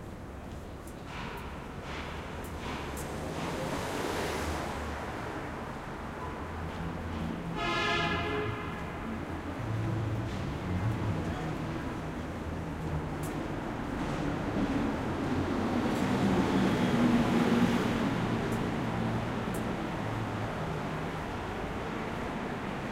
0.0s traffic 22.9s
8.7s people walking 16.4s

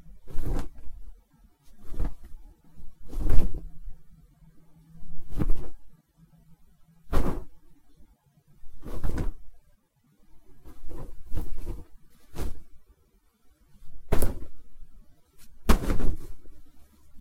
0.2s cloth flaps 1 1.0s
1.7s cloth flaps 1 2.4s
3.0s cloth flaps 1 3.8s
5.1s cloth flaps 1 5.8s
7.1s cloth flaps 1 7.6s
8.7s cloth flaps 1 9.5s
10.6s cloth flaps 1 12.8s
13.8s cloth flaps 1 14.7s
15.4s cloth flaps 1 16.6s

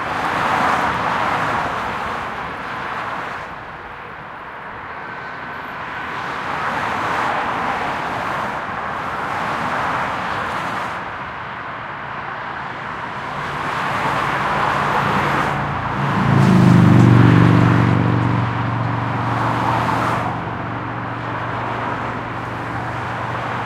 0.0s Regular traffic 23.6s

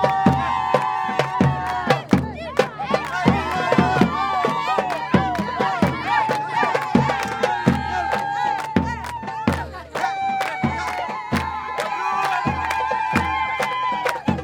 0.0s applaud 14.4s
0.0s cheer 14.4s
0.0s shouting 14.4s

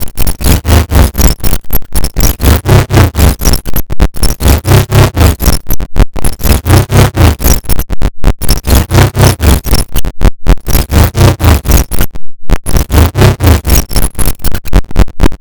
0.0s glitch 15.4s

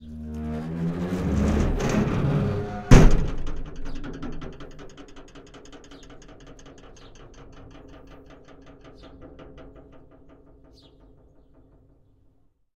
0.0s Large metal gate squeaks rattles and bangs 12.5s

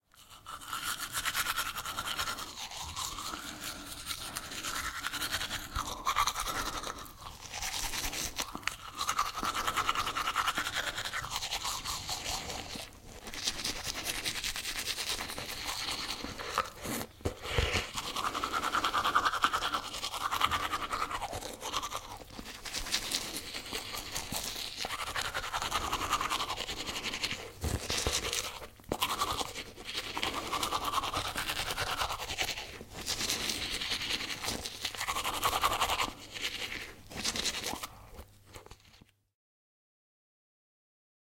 0.0s Cleaning teeth with toothbrush 39.1s

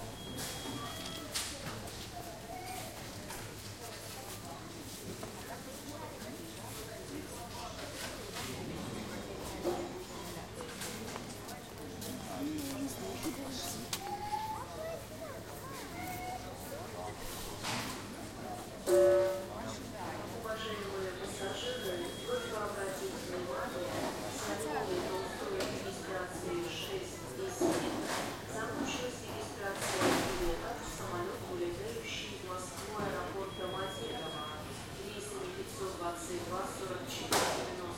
0.0s people talking 37.9s
11.2s Announcements 14.6s
20.4s Announcements 23.7s
32.4s Announcements 37.2s

